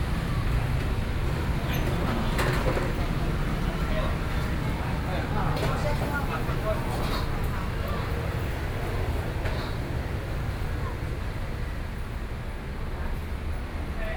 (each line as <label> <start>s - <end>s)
Various shops voices 0.0s - 12.5s
Traffic Sound 1.6s - 12.8s
walking on the Road 5.0s - 12.4s